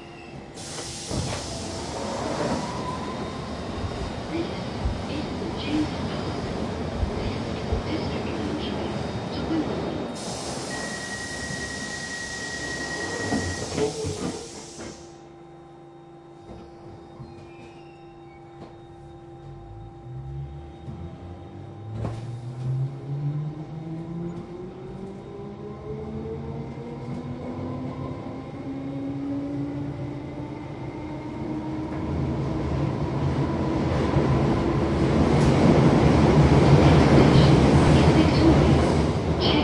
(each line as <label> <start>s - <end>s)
train action 0.0s - 15.2s
hiss 0.6s - 2.9s
announcements 4.2s - 9.9s
hiss 10.2s - 15.2s
announcements 36.7s - 39.6s